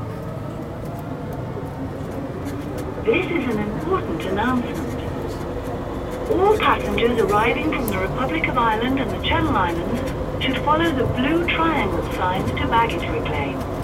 airport transit 0:00.0 - 0:13.8

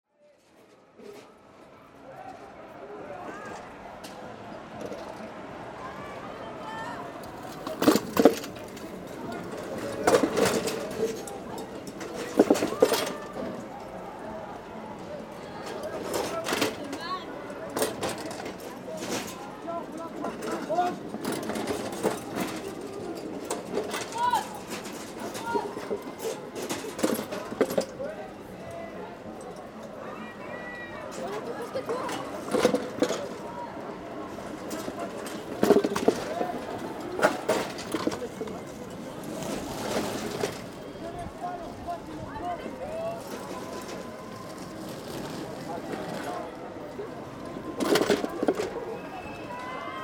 wheels, jumping a small metallic gutter 0:07.2 - 0:13.5

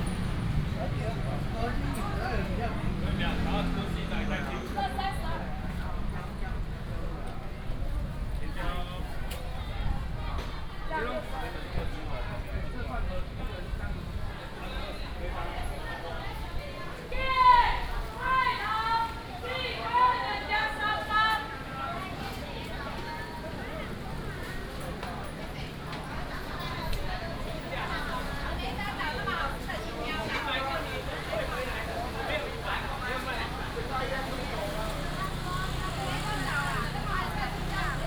vendors peddling 0:00.0 - 0:09.6
traffic sound 0:00.0 - 0:10.8
traffic sound 0:15.5 - 0:38.0
vendors peddling 0:22.6 - 0:38.0

